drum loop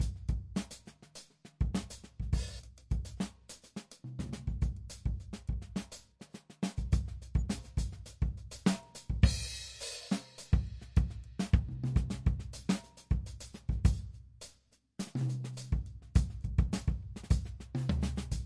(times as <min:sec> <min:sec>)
0:00.0 0:03.4, 0:06.7 0:14.1, 0:15.0 0:18.4